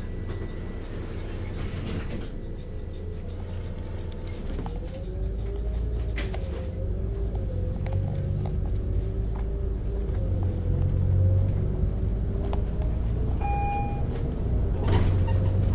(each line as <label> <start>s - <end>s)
bus interior, driving, stops, starts 0.0s - 15.7s
passengers 0.0s - 15.7s